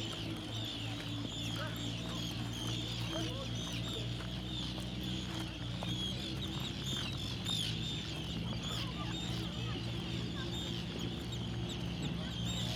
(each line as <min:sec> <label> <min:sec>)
0:00.0 seagulls 0:12.7
0:00.0 tourists 0:12.7